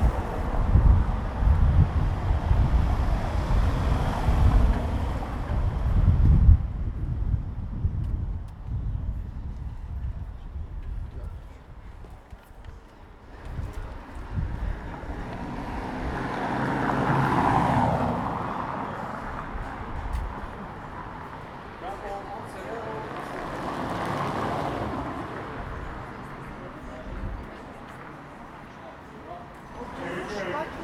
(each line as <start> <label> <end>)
0.0 wind 30.8